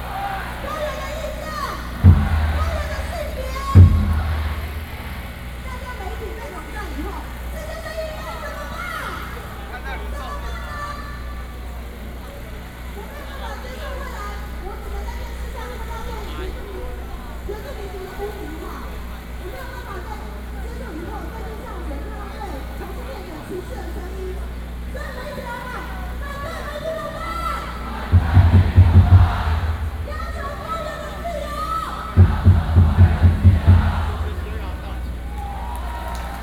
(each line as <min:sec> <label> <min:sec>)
0:00.0 crowd shouting 0:16.5
0:05.6 Speech 0:35.3
0:25.0 crowd shouting 0:36.4